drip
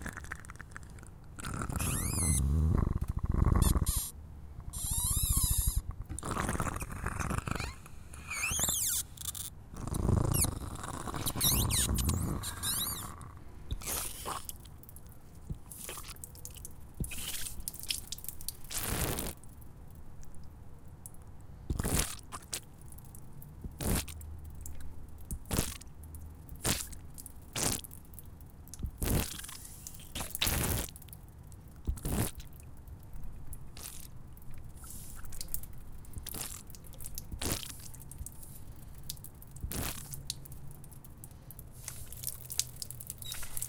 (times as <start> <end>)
31.0 43.6